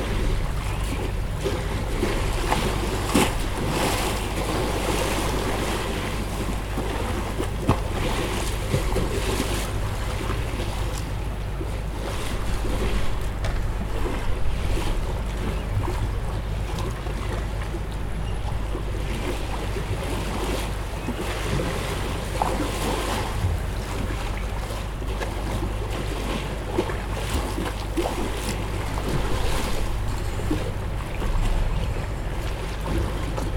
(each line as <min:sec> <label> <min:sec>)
0:00.0 waves 0:33.5